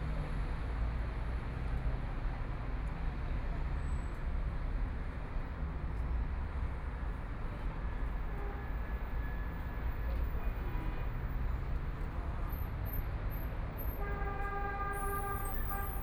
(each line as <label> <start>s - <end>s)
Traffic Sound 2.8s - 16.0s